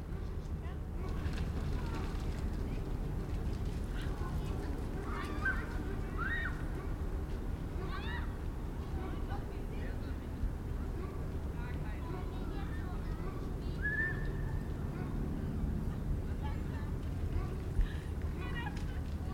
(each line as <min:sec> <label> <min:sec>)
0:00.0 a ship 0:19.3
0:00.1 woman with child and a dog are playing at the water 0:06.9
0:14.8 woman with child and a dog are playing at the water 0:19.3